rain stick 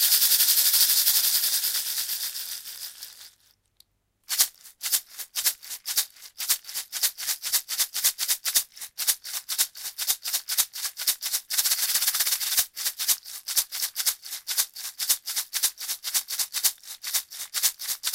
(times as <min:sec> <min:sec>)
0:00.0 0:03.6